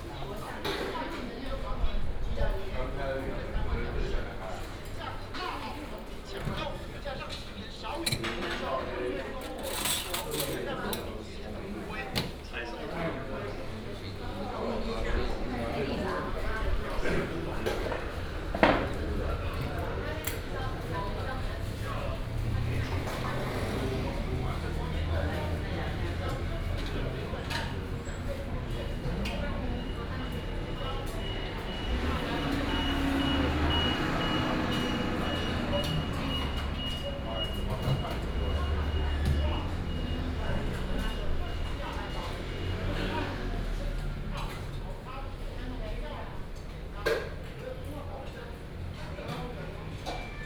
15.3s Traffic sound 49.2s

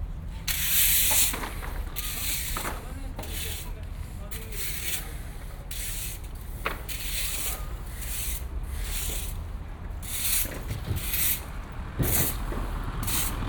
0.1s workers cleaning the street 13.4s

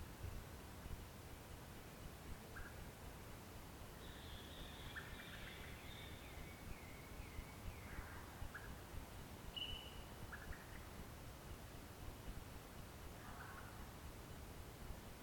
3.9s birds 8.8s
4.0s mud birds 8.8s

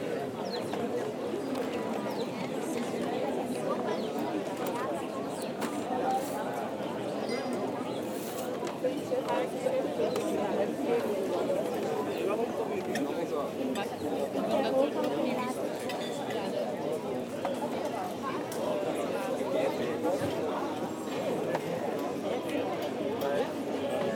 0.0s sparrows in the trees 10.8s
5.3s Waiters prepairing the bars terraces 6.8s
7.6s Waiters prepairing the bars terraces 8.8s

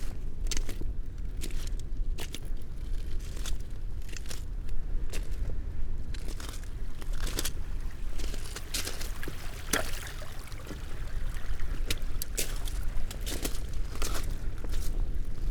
6.1s small stream 15.5s

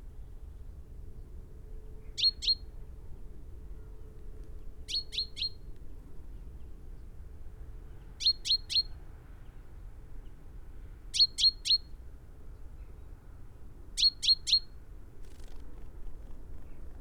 0.0s background noise 17.0s
2.0s calls and song from a bird 2.7s
4.9s calls and song from a bird 5.7s
7.9s calls and song from a bird 9.6s
11.1s calls and song from a bird 12.0s
14.0s calls and song from a bird 17.0s

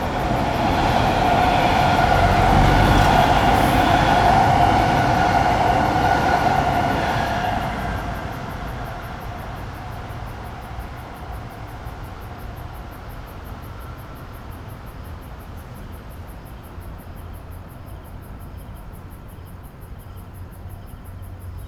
0.0s Traveling by train 21.6s
1.2s Water sound 4.8s

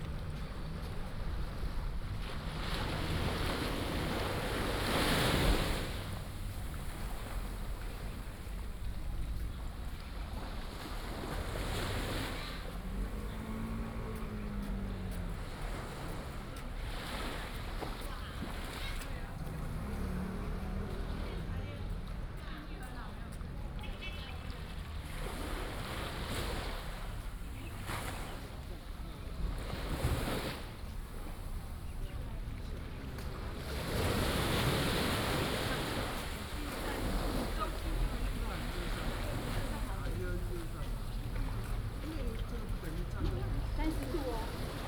0.0s Tide 44.8s
0.0s Tourist 44.8s

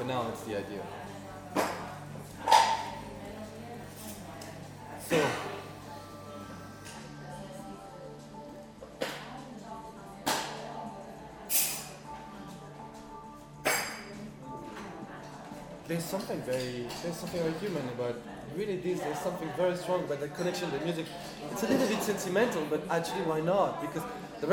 0.0s artist conversation 1.7s
0.1s coffe machine 7.5s

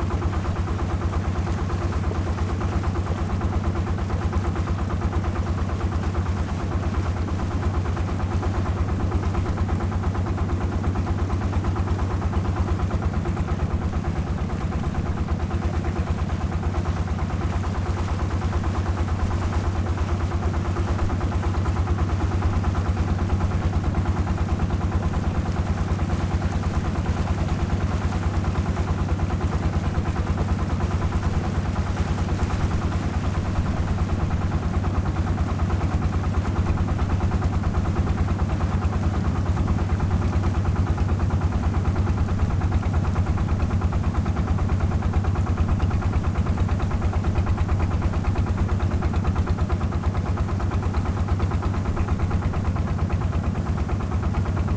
0.0s Small truck traveling on the sea 54.7s

